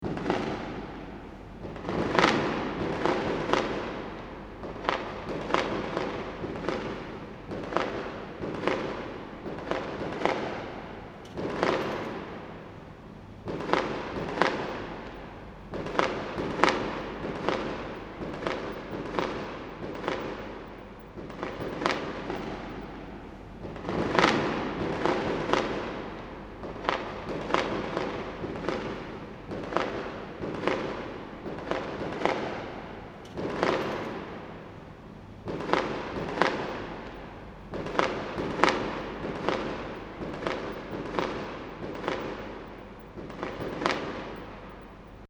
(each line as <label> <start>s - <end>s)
distant fireworks 0.0s - 45.2s